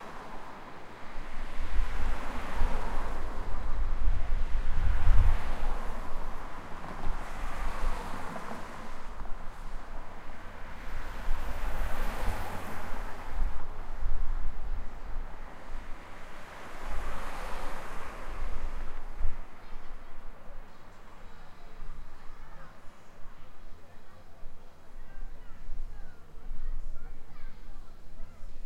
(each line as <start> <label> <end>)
0.0 Cars Passing By 27.0